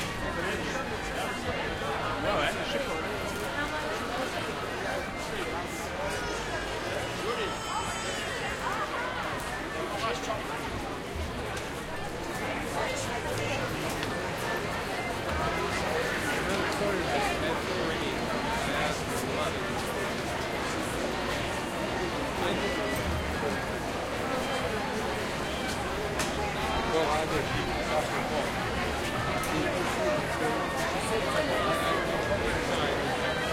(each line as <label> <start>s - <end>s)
music 0.0s - 17.4s
crowd 0.0s - 33.5s
music 20.8s - 33.5s